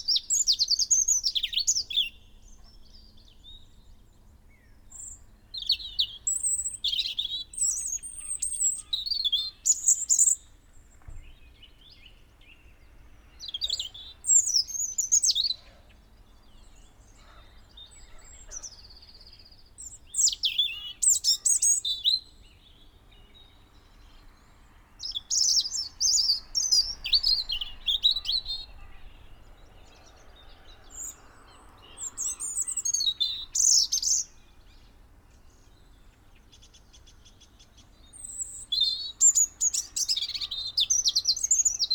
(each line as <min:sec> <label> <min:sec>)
0:00.0 blackbird 0:41.9
0:00.0 blue tit 0:41.9
0:00.0 robin song 0:41.9
0:00.0 song thrush 0:41.9
0:04.9 pheasant 0:22.2
0:17.1 crow 0:18.9